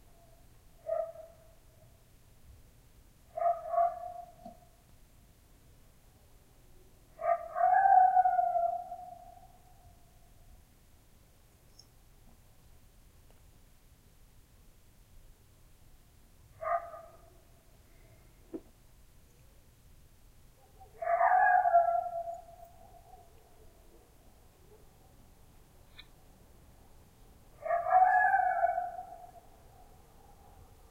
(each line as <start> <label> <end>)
20.6 coyote 26.4